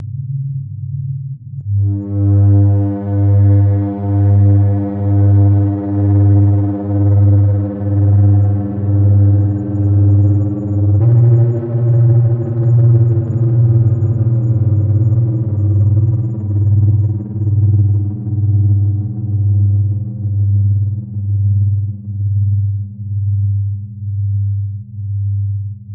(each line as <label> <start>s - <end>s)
strange engine noises 1.7s - 21.3s